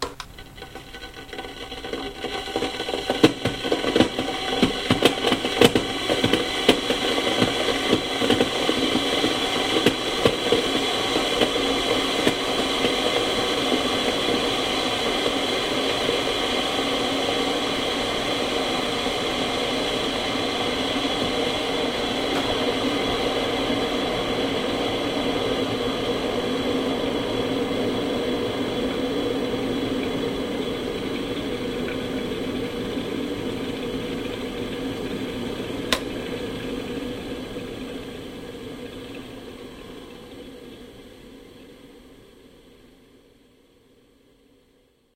0.0s switch 0.8s
0.0s kettle being switched on 16.3s
0.0s kettle boiling 44.6s
19.3s kettle being switched on 24.2s
35.8s kettle being switched on 36.4s
35.9s switch 36.2s

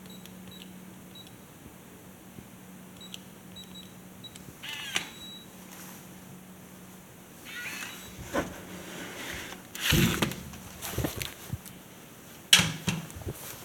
4.6s shutting the door 5.3s
7.4s shutting the door 8.7s
9.3s shutting the door 11.4s

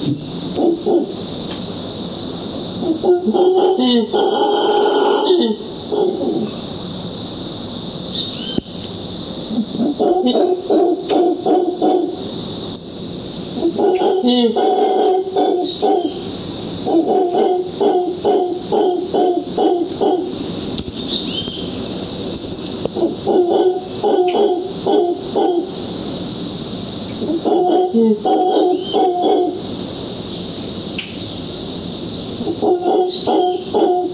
0.0s Howler Monkey 1.3s
2.8s Howler Monkey 6.6s
9.5s Howler Monkey 12.3s
13.5s Howler Monkey 20.6s
22.9s Howler Monkey 26.0s
27.2s Howler Monkey 29.8s
32.4s Howler Monkey 34.1s

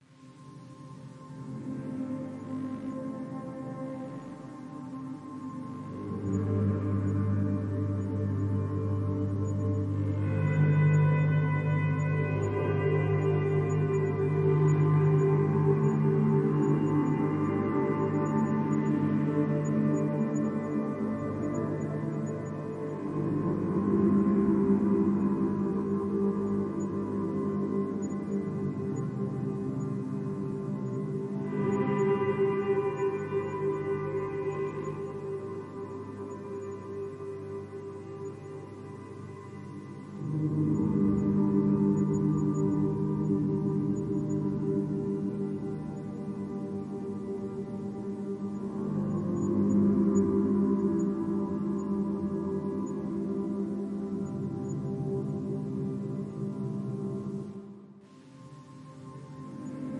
0.2s synth 59.9s

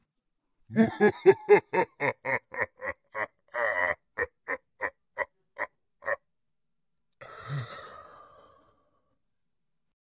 0.7s low male laugh 6.2s

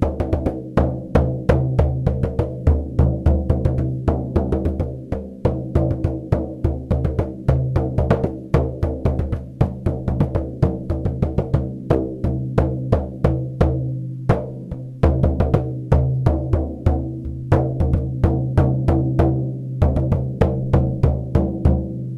0.0s circular hand drum 22.1s

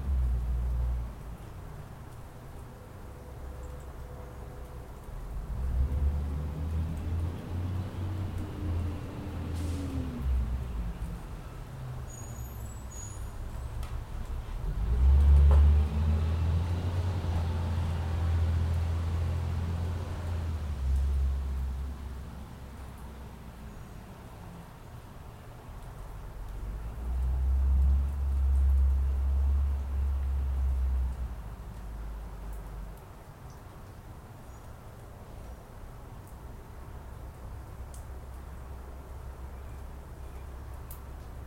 5.3s Garbage truck in the distant delicately collecting our refuse 22.0s

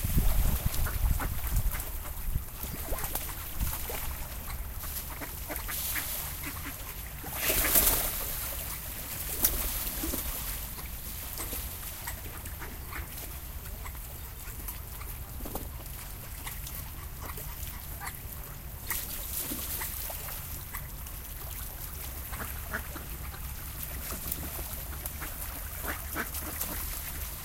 0.0s ducks swimming in a lake 27.4s

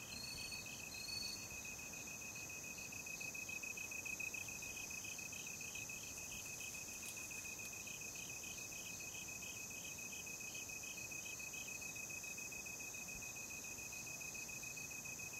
0.0s cicadas 15.3s
0.0s cricket-like sounds 15.3s

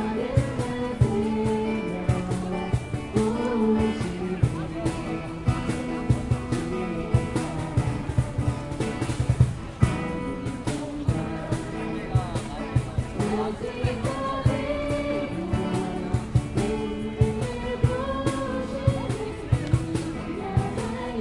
0.0s People talking 21.2s

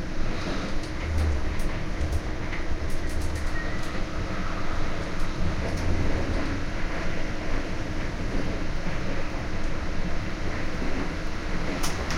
0.0s train 12.1s

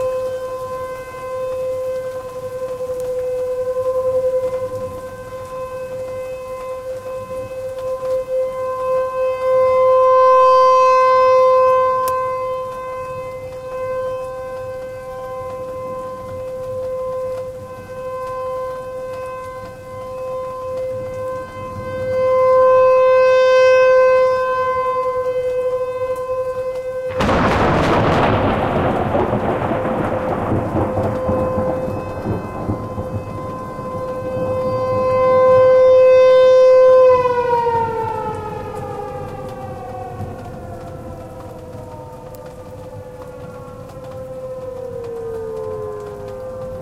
0.0s hail 46.8s
0.0s rain 46.8s
0.0s tornado warning siren going off 46.8s
0.0s wind 46.8s
27.1s very loud thunder 35.1s

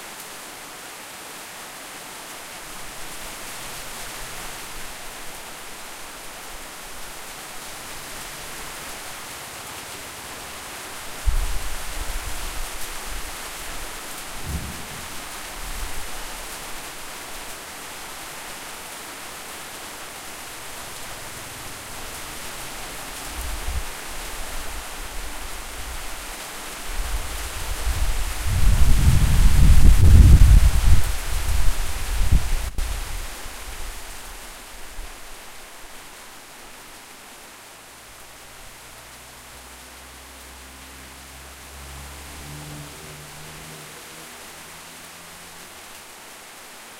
0.0s Rain 46.9s
14.4s thunder 16.1s

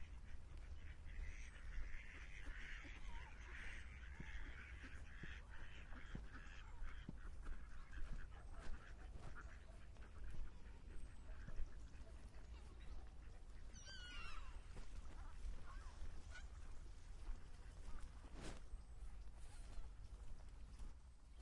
0.0s ducks 21.4s

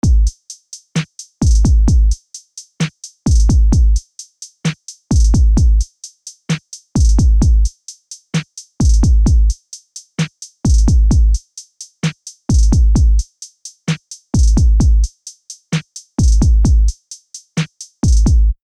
0.0s Bass 0.3s
0.0s Kick Drum 0.4s
1.4s Kick Drum 2.2s
1.5s Bass 2.2s
3.3s Kick Drum 4.0s
3.3s Bass 4.0s
5.1s Kick Drum 5.9s
5.2s Bass 5.8s
7.0s Kick Drum 7.7s
7.0s Bass 7.7s
8.8s Kick Drum 9.6s
8.9s Bass 9.6s
10.6s Kick Drum 11.4s
10.7s Bass 11.4s
12.5s Kick Drum 13.3s
12.6s Bass 13.2s
14.4s Kick Drum 15.1s
14.4s Bass 15.1s
16.2s Kick Drum 17.0s
16.3s Bass 17.0s
18.0s Bass 18.6s
18.0s Kick Drum 18.6s

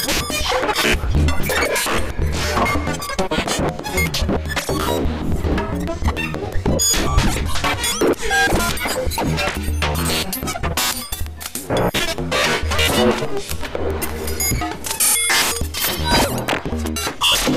0.0s synthesizer 17.5s

